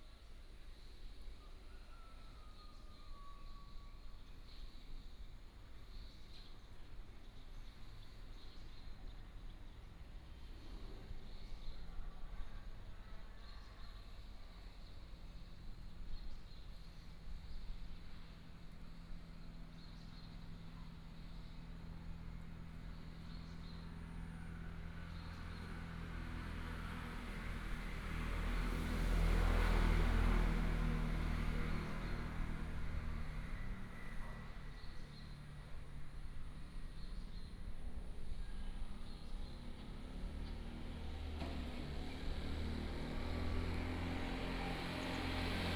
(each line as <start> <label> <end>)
21.6 traffic sound 45.7